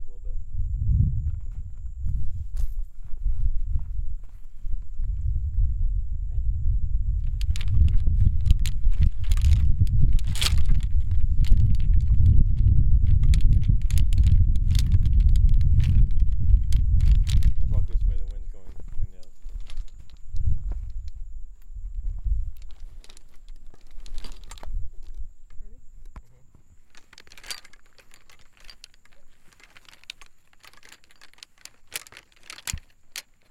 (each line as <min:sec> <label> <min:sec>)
0:00.0 crickets 0:33.5
0:00.0 wind noise 0:33.5
0:07.1 golf clubs rattling around in a golf bag 0:33.5